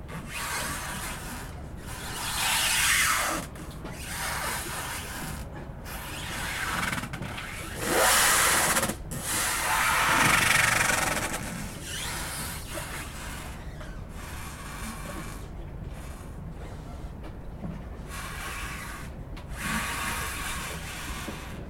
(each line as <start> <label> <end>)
0.0 Ship scratching against dock 21.6